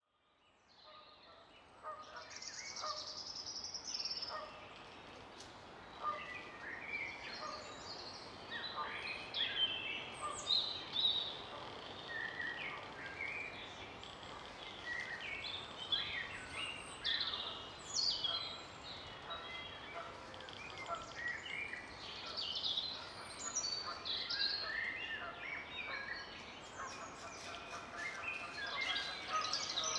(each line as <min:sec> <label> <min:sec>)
0:11.2 Creaking of trees as they move in the breeze 0:16.4